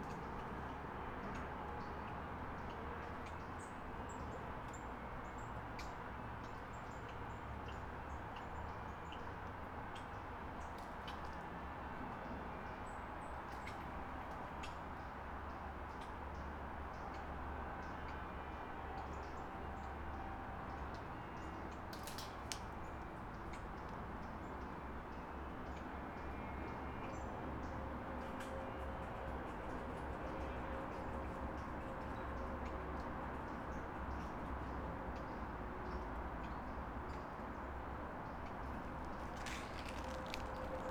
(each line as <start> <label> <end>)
27.7 distant traffic hum 40.9
38.7 squirrel 40.9